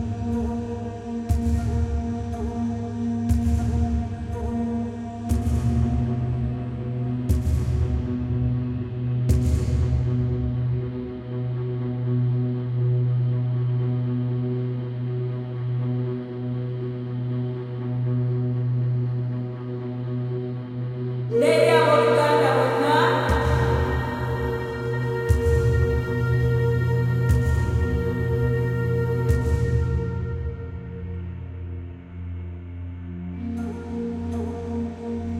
21.3s Woman 25.3s
21.3s Drone 31.9s

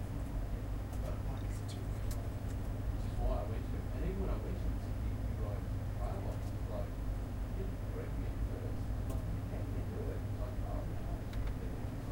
0.0s Fans 12.1s
0.0s airconditioning 12.1s

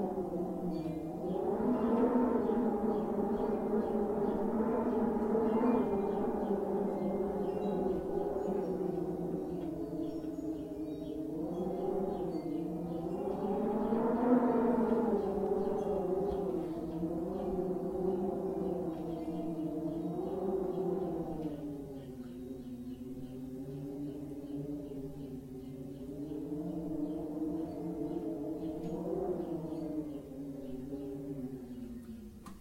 0.0s wind 32.6s
6.9s wind chimes 13.5s

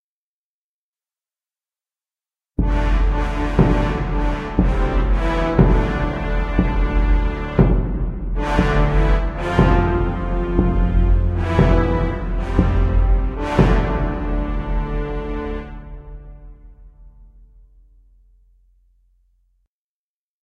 2.6s drums 16.7s
2.6s brass 17.9s

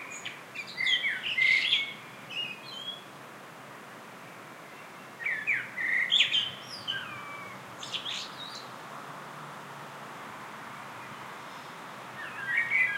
0.0s birdsong 3.1s
3.7s birdsong 9.4s
6.8s cars in the distance 12.9s
10.7s birdsong 12.9s

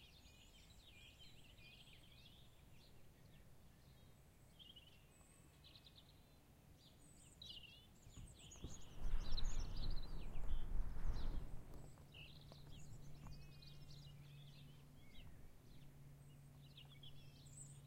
0.0s Birds 17.8s
8.4s wind noise 14.0s

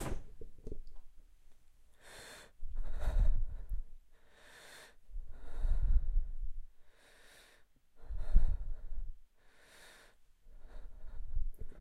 1.9s woman breathes heavily 11.8s

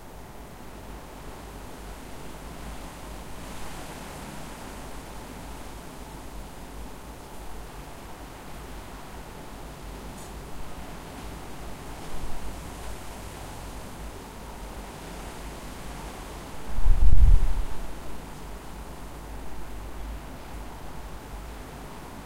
0.0s Wind between trees 22.2s

